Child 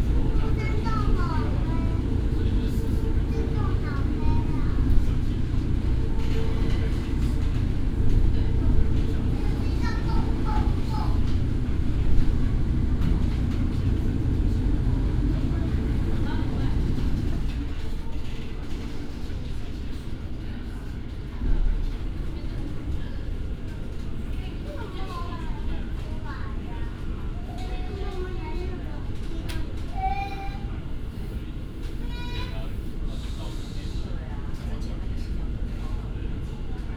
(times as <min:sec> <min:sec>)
0:00.1 0:02.1, 0:03.1 0:05.1, 0:09.3 0:11.3, 0:24.4 0:30.8, 0:32.0 0:32.8